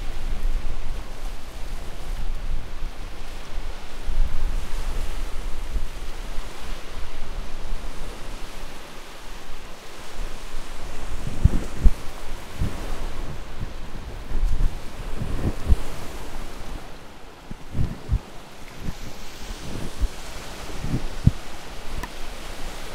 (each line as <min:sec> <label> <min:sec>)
0:00.0 ocean 0:22.9